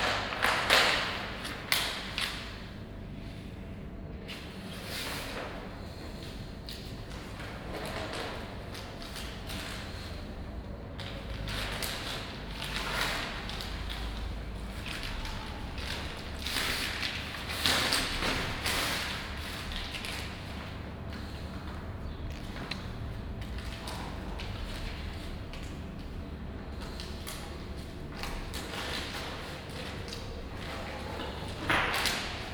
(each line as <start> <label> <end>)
10.9 plastic colour folio being rolled 21.4
22.4 plastic colour folio being rolled 32.5